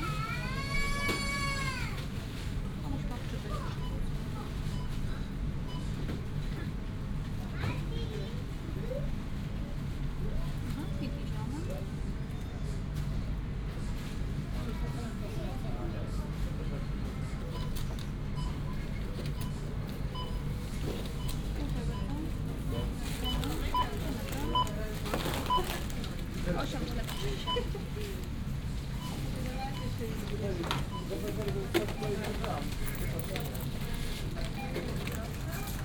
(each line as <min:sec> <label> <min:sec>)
0:18.4 cash registers 0:28.2
0:28.8 cash registers 0:35.8